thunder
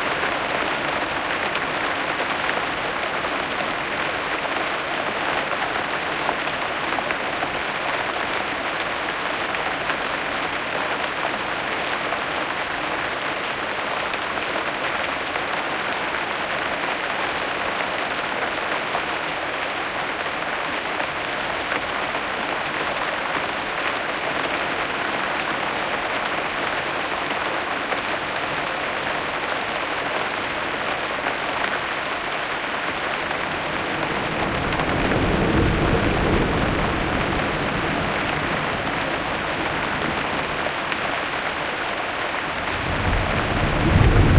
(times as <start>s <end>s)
33.6s 40.5s, 42.6s 44.3s